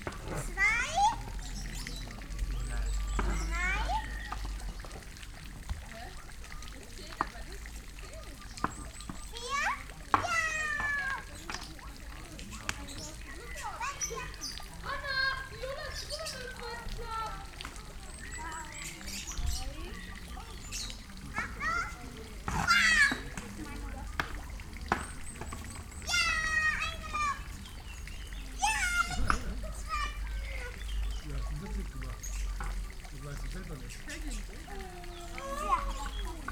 kids playing 0.0 - 36.5

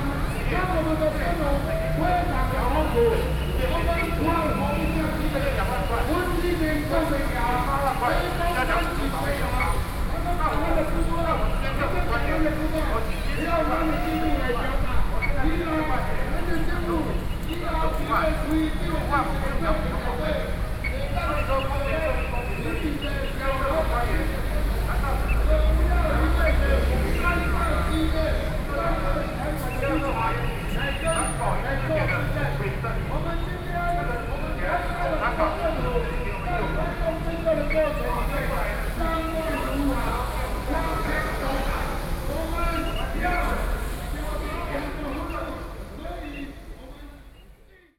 Labor protest 0.0 - 47.9

